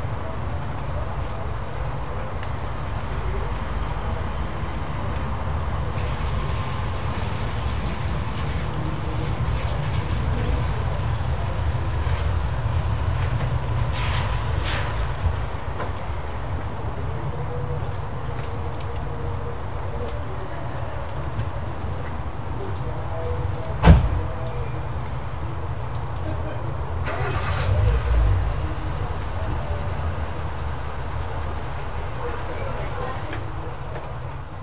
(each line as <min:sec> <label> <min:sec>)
0:00.0 American accent from a passer by 0:34.6
0:00.0 Pub noise from inside the pub 0:34.6
0:00.0 Rain 0:34.6